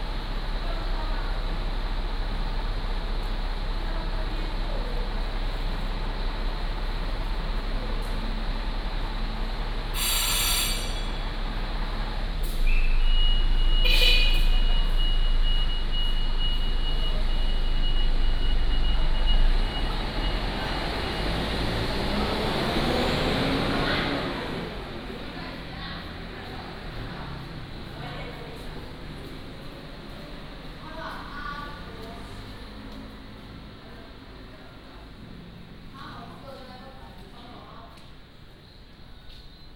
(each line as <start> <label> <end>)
0.0 Traffic Sound 39.7